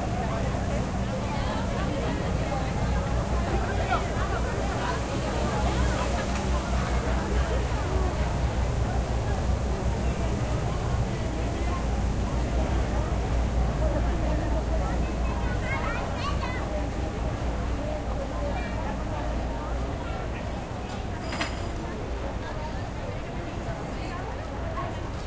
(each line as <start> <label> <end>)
0.0 crowds in street 25.2